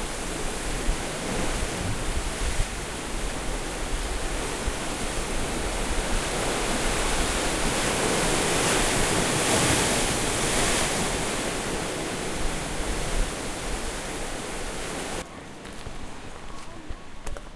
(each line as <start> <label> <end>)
0.0 ocean waves crashing and misting 15.3
15.3 Walking on thick-grained black sand 17.5